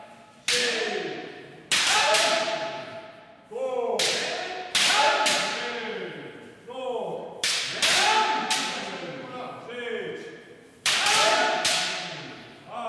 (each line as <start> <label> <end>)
0.1 Kendo practice 3.1
4.0 Kendo practice 5.8
7.4 Kendo practice 9.0
10.8 Kendo practice 12.6